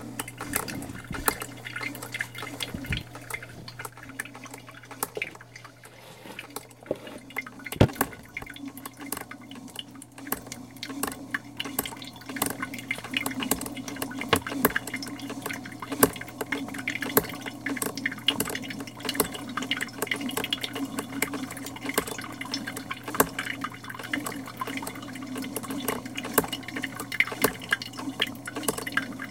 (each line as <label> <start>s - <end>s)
making coffee 0.0s - 29.3s